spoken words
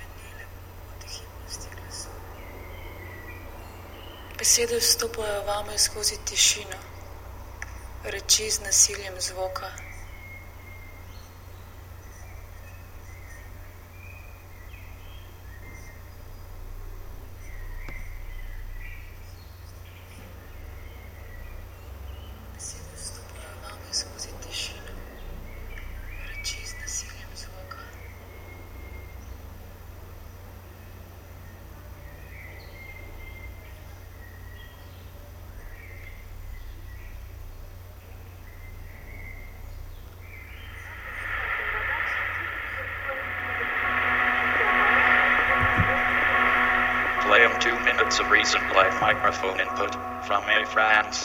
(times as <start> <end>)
41.1 51.2